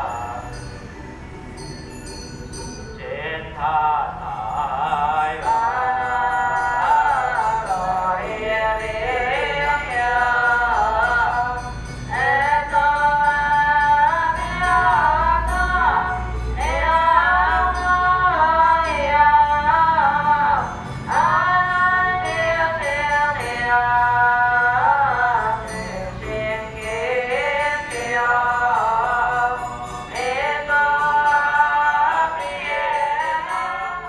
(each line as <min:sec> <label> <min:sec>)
0:00.0 Traditional temple rituals 0:34.0